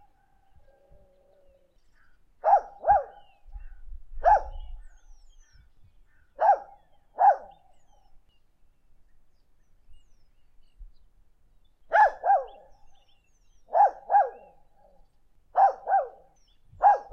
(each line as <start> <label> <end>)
2.4 Dog Barking 3.2
4.2 Dog Barking 4.6
6.4 Dog Barking 7.6
11.9 Dog Barking 12.6
13.7 Dog Barking 14.5
15.6 Dog Barking 17.1